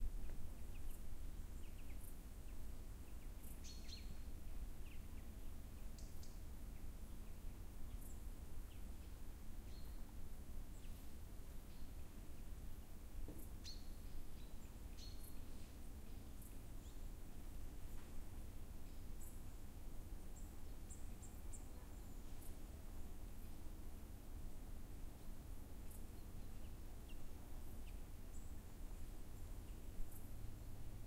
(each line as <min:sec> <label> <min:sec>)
0:00.0 birds 0:23.6